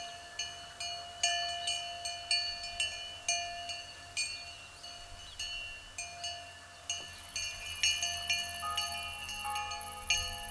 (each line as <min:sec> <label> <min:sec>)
0:00.0 cow bell 0:10.5
0:00.0 river is flowing quietly 0:10.5
0:06.2 church bell 0:10.5